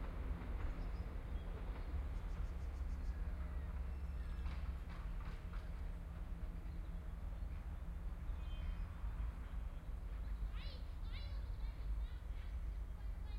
0.0s train arriving and departing 13.3s

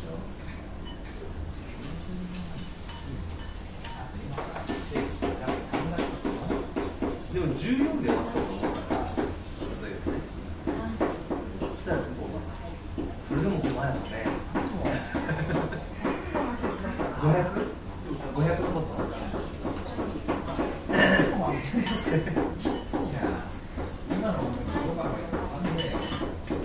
16.4s People talking in Japanese 26.2s

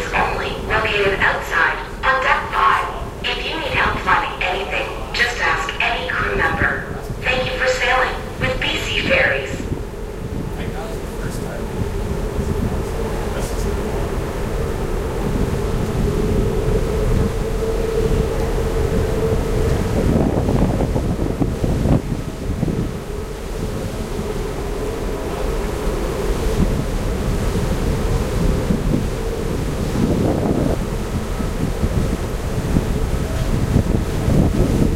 0.0s safety announcements 9.7s
0.0s Ferry Horn 34.9s

